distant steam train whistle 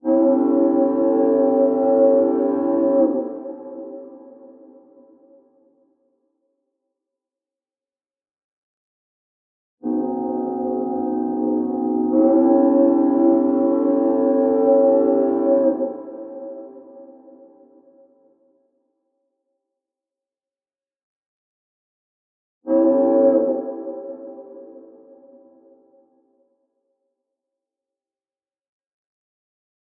0:00.0 0:05.0, 0:09.8 0:17.6, 0:22.7 0:25.8

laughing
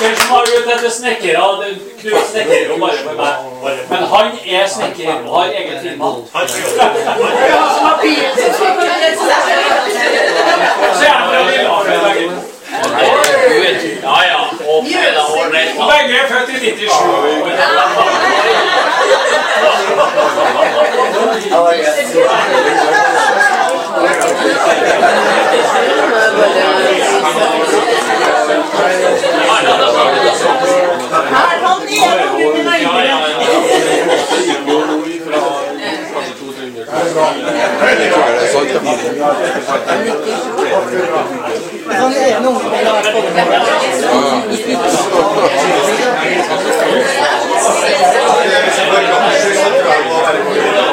0:17.3 0:31.0

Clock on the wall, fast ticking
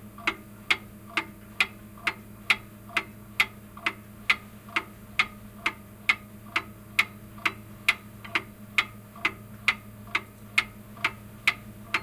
0:06.6 0:12.0

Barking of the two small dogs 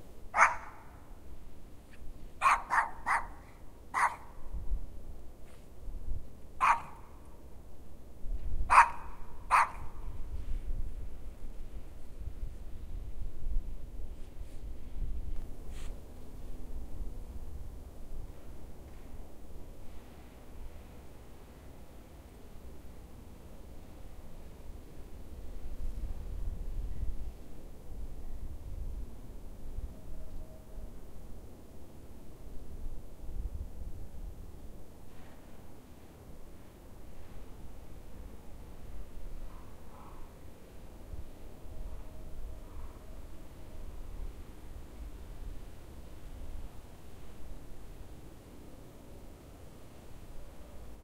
0:00.4 0:01.0, 0:02.4 0:04.4, 0:06.6 0:07.1, 0:08.7 0:10.0

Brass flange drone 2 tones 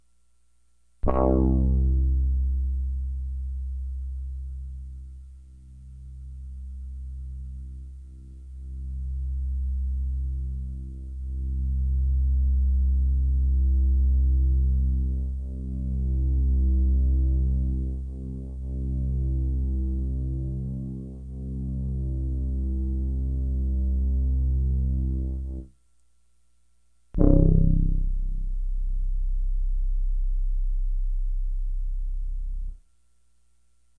0:01.0 0:02.3, 0:27.2 0:28.7

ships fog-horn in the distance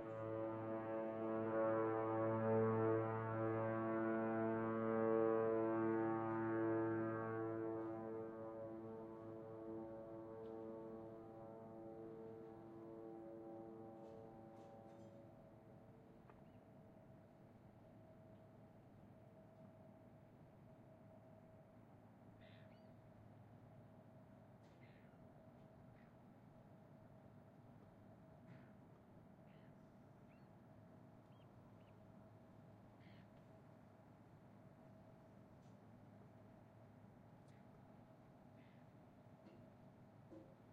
0:00.0 0:15.8

